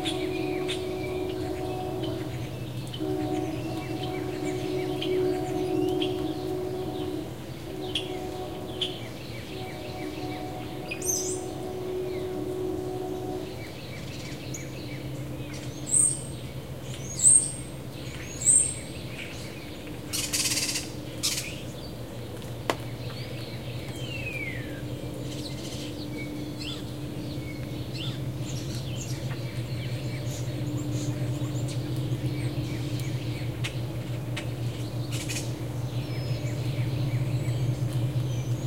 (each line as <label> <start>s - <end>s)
Cardinal 0.0s - 13.5s
low rumble of a distant train 0.0s - 38.6s